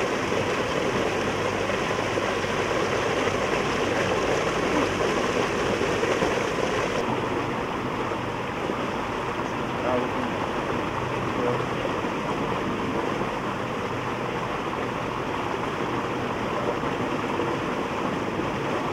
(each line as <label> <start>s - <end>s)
water pumps 0.0s - 18.9s